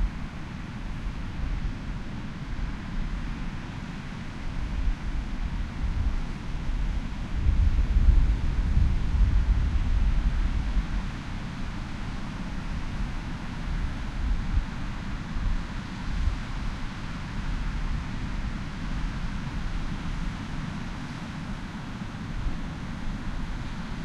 4.3s wind noise 21.2s

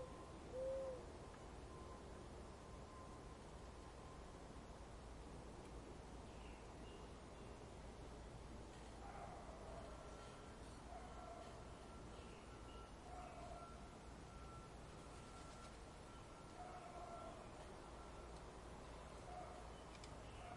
0.0s American Mourning Dove calling 2.0s
0.0s distant traffic 20.5s
0.0s light wind 20.5s
9.0s American Mourning Dove calling 20.5s

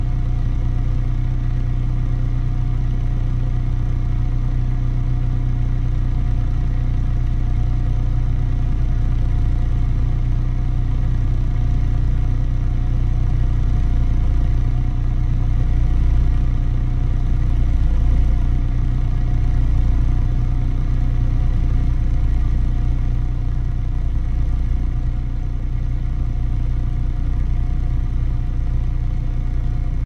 0.0s car exhaust while idling 30.0s

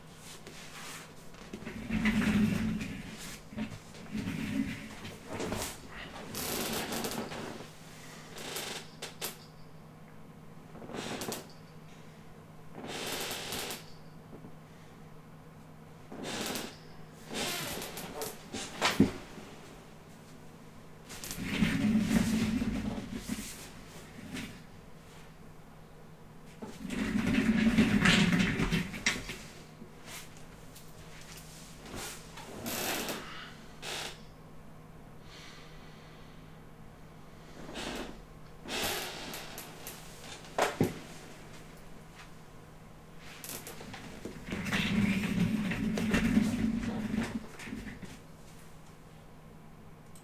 0.3s squeeky chair 7.7s
0.4s Rolling office chair on tiles 7.7s
10.8s squeeky chair 11.8s
12.8s squeeky chair 14.2s
16.1s squeeky chair 19.3s
17.3s Rolling office chair on tiles 19.4s
21.1s Rolling office chair on tiles 24.7s
21.1s squeeky chair 24.7s
26.6s Rolling office chair on tiles 30.4s
26.6s squeeky chair 30.3s
31.1s squeeky chair 34.3s
37.6s squeeky chair 41.4s
37.6s Rolling office chair on tiles 41.6s
43.2s Rolling office chair on tiles 48.2s
43.2s squeeky chair 48.2s

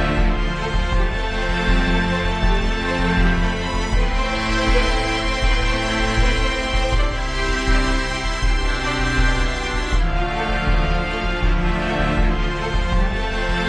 0.0s Orchestra 13.6s

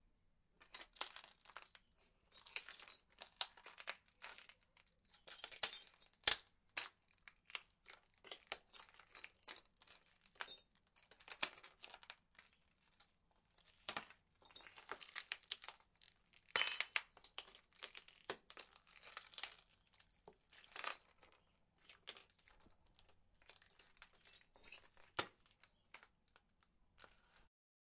0.7s Walking on broken glass 15.8s
16.5s Walking on broken glass 27.4s

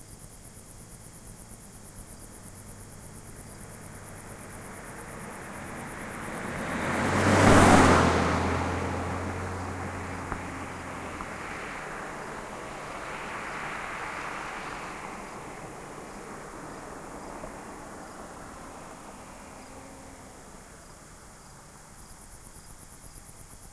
0.0s crickets 23.7s
2.2s car driving by 22.1s

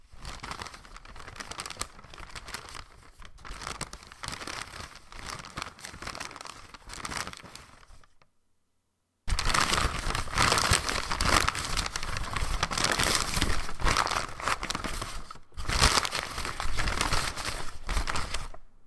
0.2s paperbag crumbling 8.0s
9.3s paperbag crumbling 18.6s

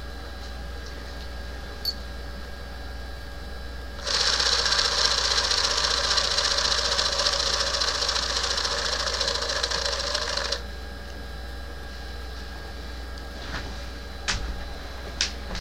4.0s rapid clicking of the shutter 10.6s

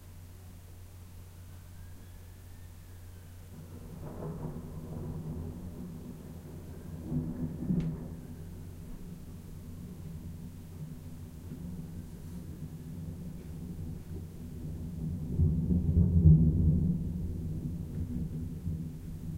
1.3s Far Siren 9.8s
3.4s Thunder 19.3s

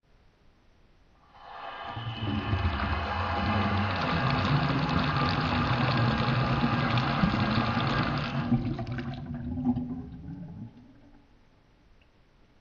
2.3s water falling from an opened tap into the sink 9.3s

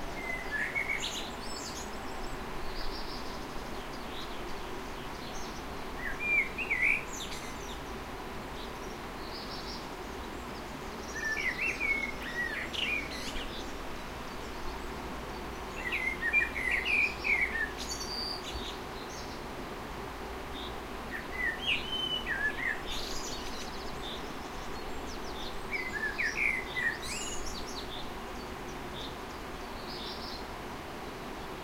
0.0s birdsong 19.5s
20.4s birdsong 31.6s

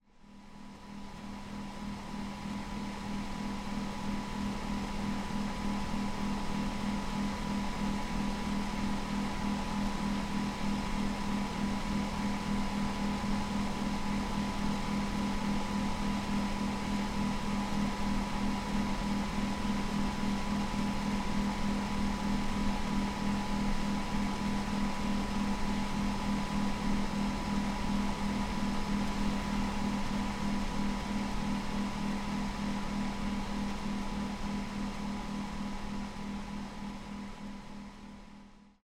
0.3s ac machine blowing wind 38.3s

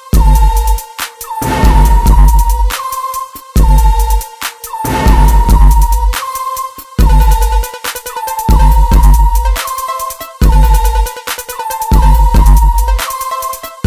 0.1s beat 13.8s
1.4s sub bass 2.8s
4.9s sub bass 6.2s

